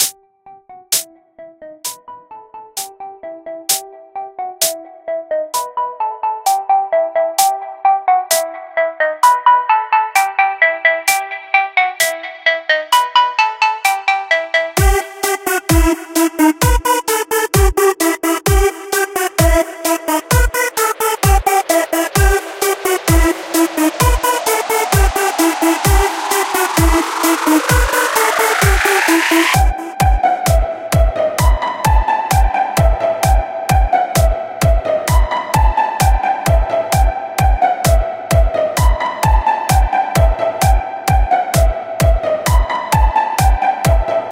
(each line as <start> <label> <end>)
10.0 Fainted Music Jam 44.2